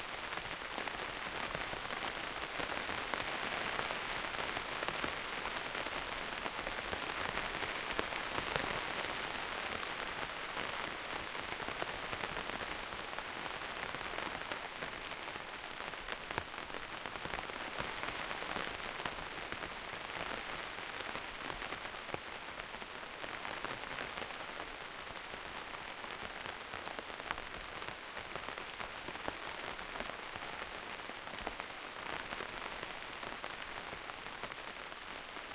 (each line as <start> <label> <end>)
0.0 rain inside the greenhouse close perspective to plastic surface 35.5